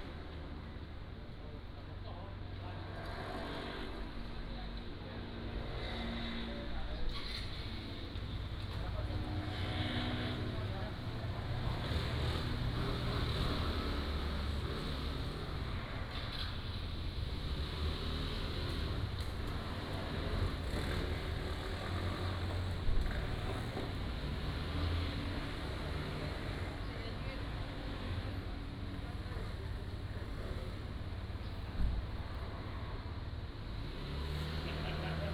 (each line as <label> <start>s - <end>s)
Traffic Sound 0.0s - 35.3s